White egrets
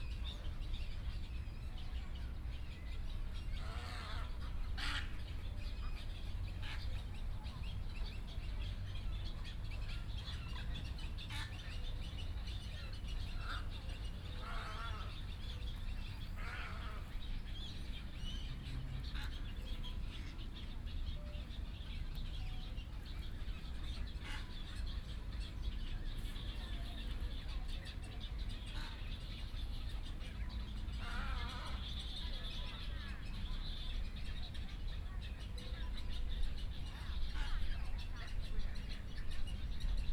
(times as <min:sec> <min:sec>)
0:03.6 0:05.6, 0:13.0 0:17.2, 0:26.2 0:33.7, 0:36.7 0:40.0